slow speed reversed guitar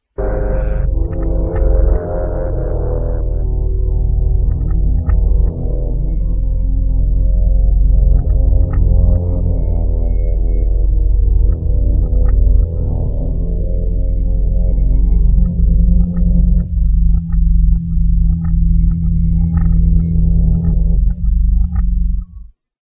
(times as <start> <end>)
0.2 5.7